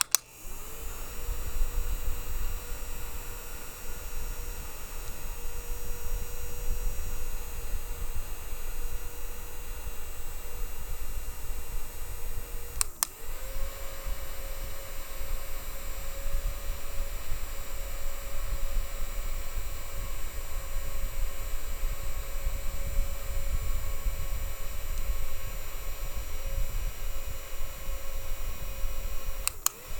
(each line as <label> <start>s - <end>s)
handheld fan turning on, running and turning off 0.0s - 29.9s